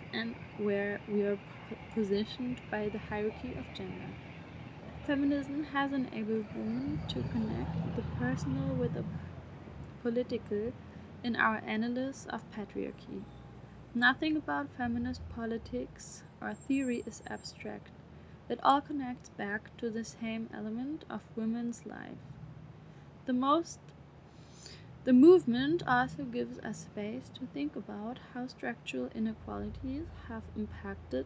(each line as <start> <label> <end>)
0.0 reading group 13.3